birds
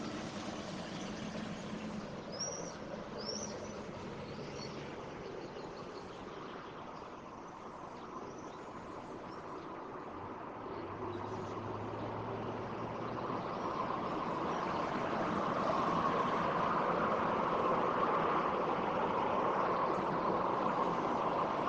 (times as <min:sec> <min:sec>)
0:00.0 0:15.6